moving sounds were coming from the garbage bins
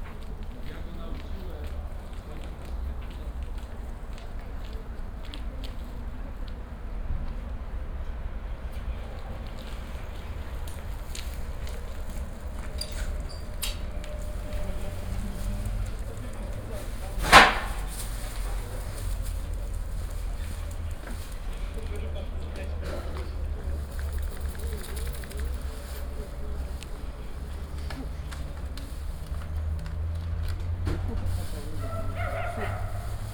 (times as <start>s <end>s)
9.6s 22.2s, 22.8s 33.3s